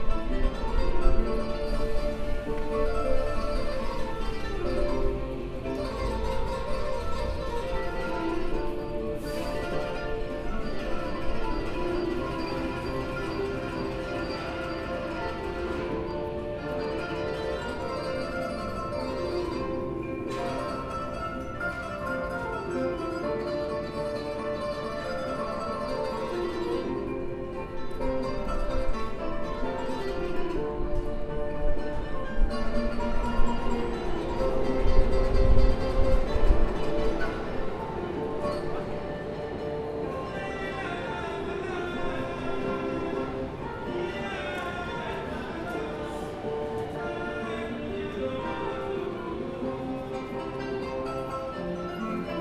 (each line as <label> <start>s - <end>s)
two Afro-American musicians playing in between the stairways 0.0s - 52.4s